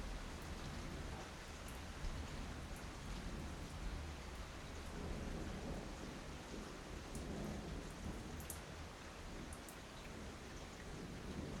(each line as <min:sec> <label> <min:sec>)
0:00.0 rain 0:11.6